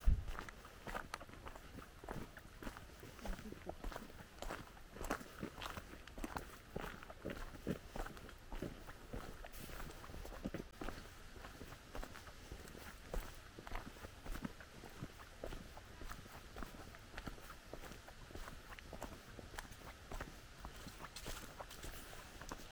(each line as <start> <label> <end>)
0.0 Hiking on gravel 22.7